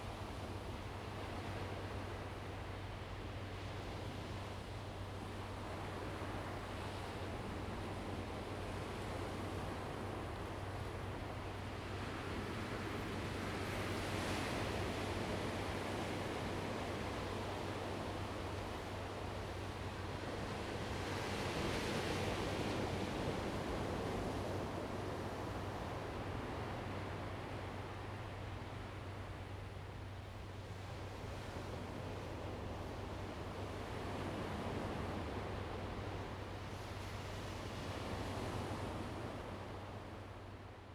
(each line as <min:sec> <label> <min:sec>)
0:00.0 waves 0:40.9